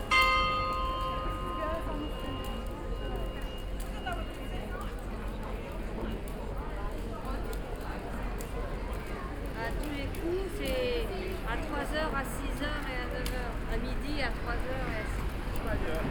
0.0s bells 5.2s

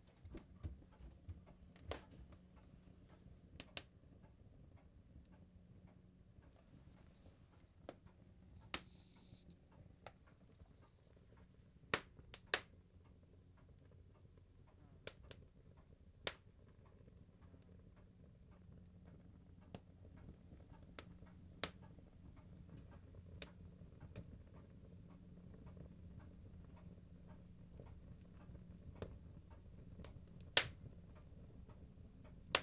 0.0s open peat fire burning 32.6s

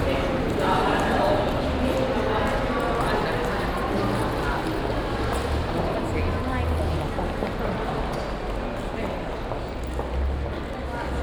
0.0s steps passing by on the solid stone pavement 11.2s

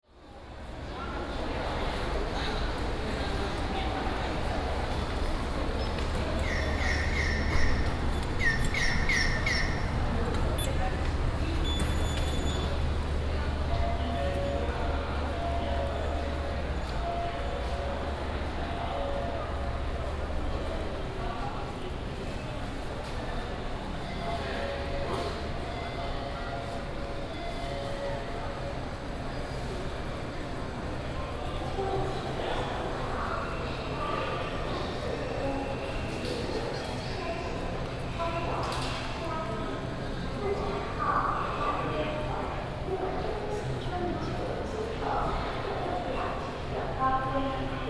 0.0s walking in the Station 47.8s
0.2s The train leaves 47.8s

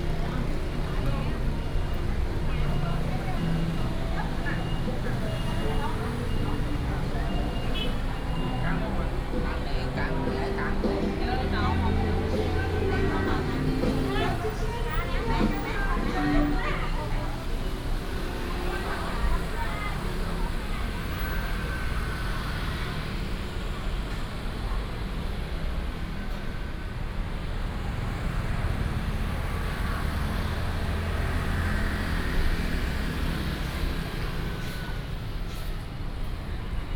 0.0s Walking in the street 36.9s

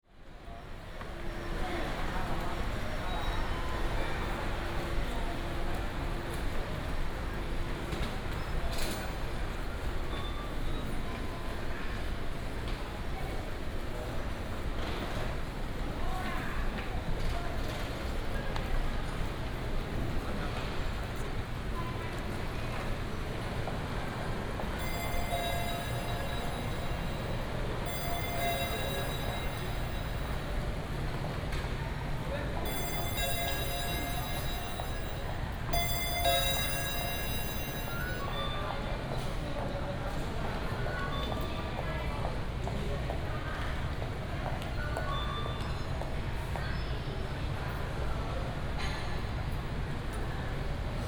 24.8s Convenience store sound 31.1s
24.8s Ticket counter sound 31.1s
32.7s Ticket counter sound 39.0s
32.7s Convenience store sound 39.1s

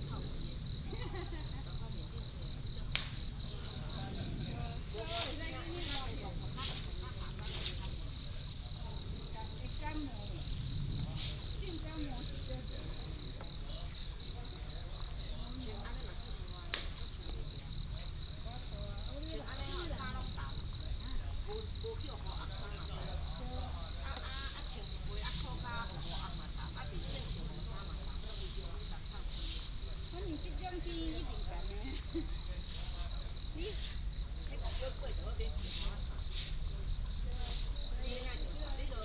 0.0s insects 39.0s

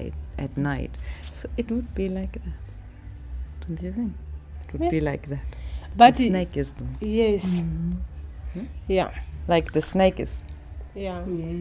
3.6s Barbara and Viola talk 11.6s

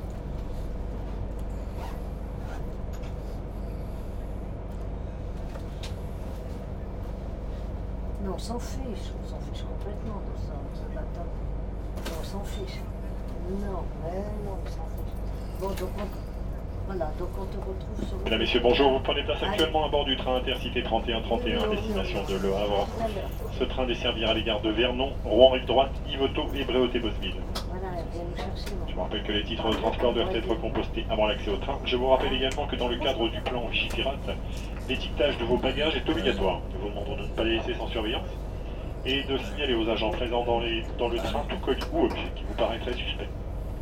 0.0s train 43.8s

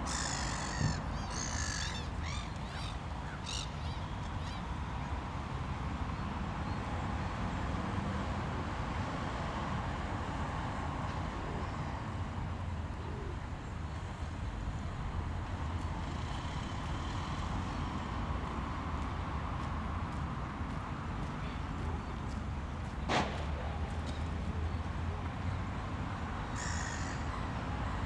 0.0s different types of birds 4.8s
15.7s passersby walking on the wet gravel 25.5s
26.4s different types of birds 28.0s

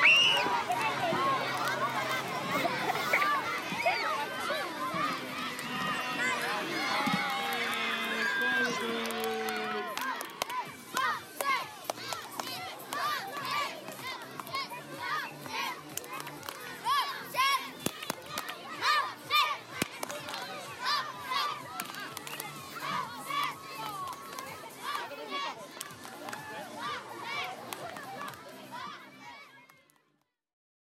0.0s children screaming 10.2s
0.0s soccer game 29.8s
5.4s clap 14.7s
15.4s clap 16.7s
17.8s clap 19.0s
19.7s clap 20.5s
21.7s clap 22.7s
23.8s clap 26.5s
27.3s clap 28.5s
29.6s clap 30.0s

